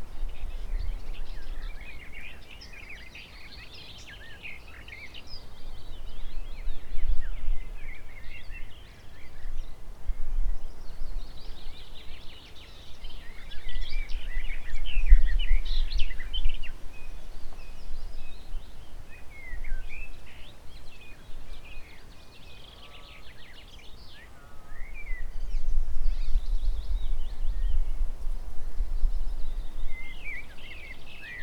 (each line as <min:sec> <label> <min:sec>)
0:10.5 many birds 0:31.4